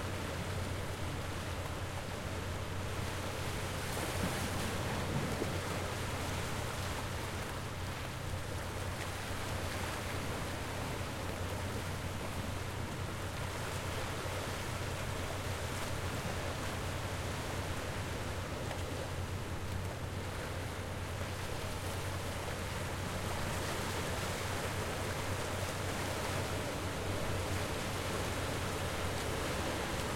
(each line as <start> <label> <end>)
0.0 Low hum of fishing boat 30.1